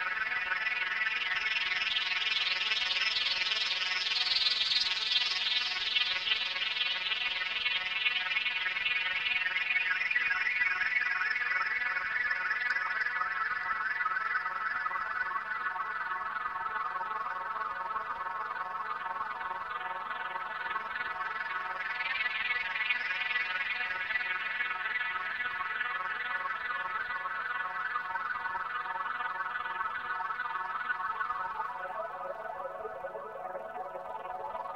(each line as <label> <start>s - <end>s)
sparkling synth-loop 30.9s - 34.7s